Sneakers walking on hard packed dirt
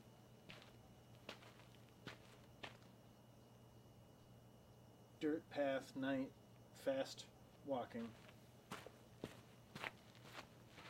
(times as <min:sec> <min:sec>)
0:00.4 0:03.0, 0:08.0 0:10.8